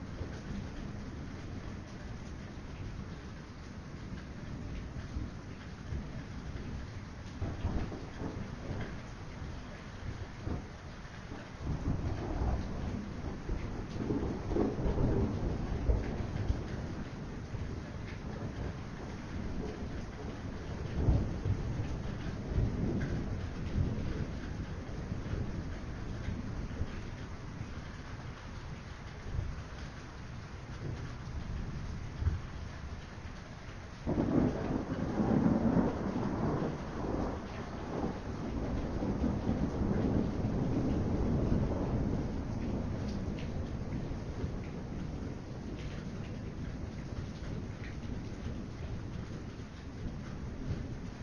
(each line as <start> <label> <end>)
0.0 RAIN 51.2
4.6 THUNDER 27.4
30.7 THUNDER 32.6
34.0 THUNDER 51.2